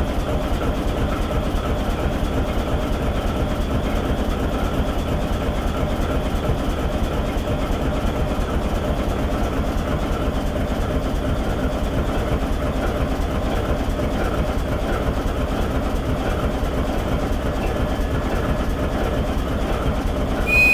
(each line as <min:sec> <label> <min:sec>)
0:00.0 Engine sound of the locomotive 0:20.7